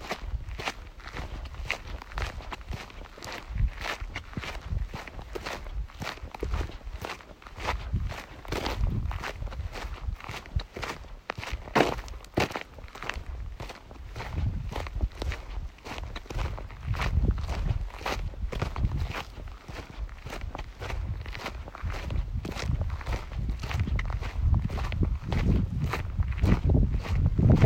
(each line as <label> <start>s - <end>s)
shoes on the dust and rocks 0.0s - 27.6s